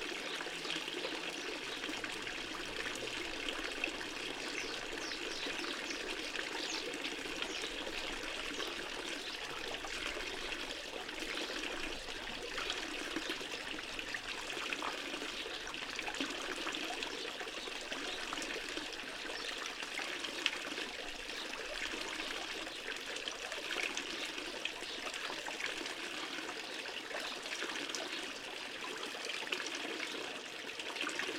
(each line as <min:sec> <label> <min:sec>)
0:00.0 Stream from ta public fountain 0:31.3
0:04.4 birds 0:10.7